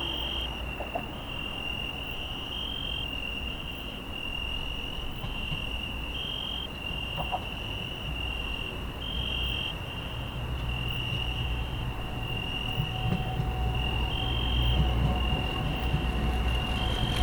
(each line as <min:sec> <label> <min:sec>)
0:00.0 Crickets 0:17.2
0:00.0 Subway 0:17.2
0:00.0 traffic noise 0:17.2
0:09.5 bicycles 0:17.2
0:10.9 siren 0:17.2